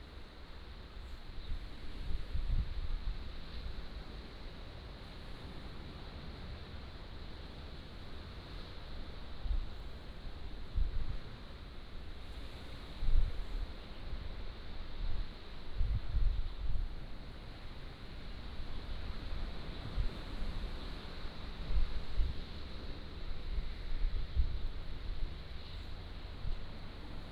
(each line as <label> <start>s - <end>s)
waves 3.1s - 15.8s
waves 16.5s - 27.3s